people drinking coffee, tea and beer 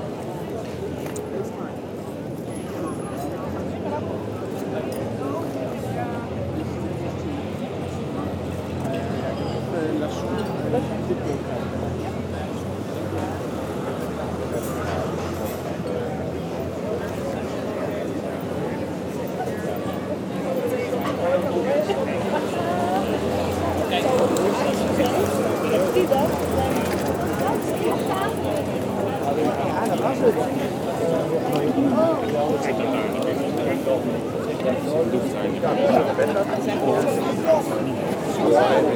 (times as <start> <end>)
24.2 29.5